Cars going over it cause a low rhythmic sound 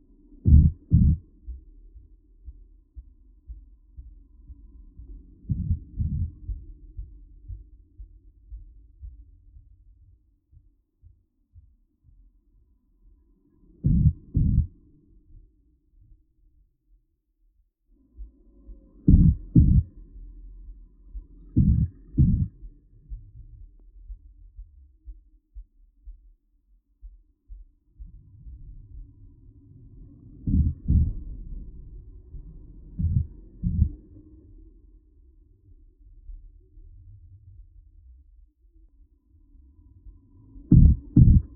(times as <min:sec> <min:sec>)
0:00.2 0:09.9, 0:13.8 0:14.8, 0:18.2 0:25.0, 0:28.0 0:37.0, 0:39.6 0:41.5